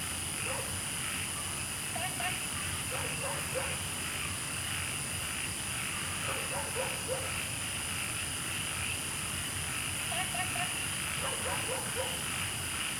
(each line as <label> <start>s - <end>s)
Insects sounds 0.1s - 12.9s
Dogs barking 0.4s - 0.7s
Dogs barking 2.9s - 3.8s
Dogs barking 6.3s - 7.4s
Dogs barking 11.2s - 12.3s